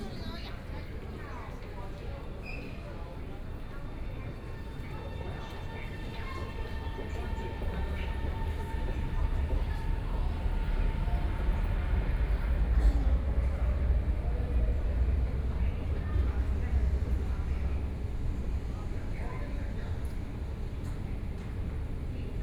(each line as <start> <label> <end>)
0.0 Walking through the subway station 22.4